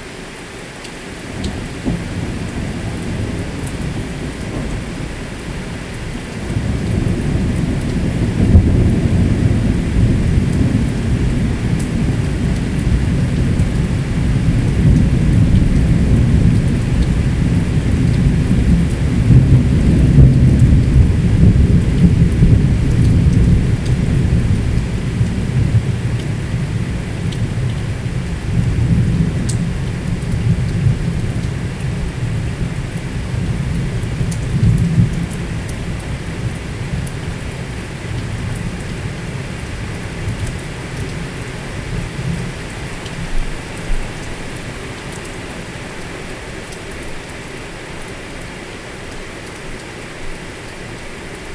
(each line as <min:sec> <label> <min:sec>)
0:01.2 Thunderstorm 0:44.6